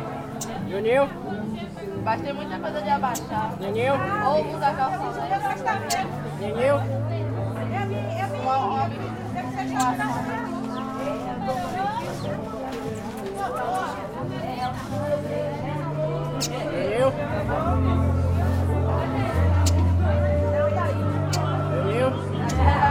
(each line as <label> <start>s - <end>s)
bird to sing 0.4s - 0.7s
bird to sing 5.8s - 6.2s
bird to sing 9.6s - 13.1s
bird to sing 16.3s - 16.9s
bird to sing 19.4s - 22.7s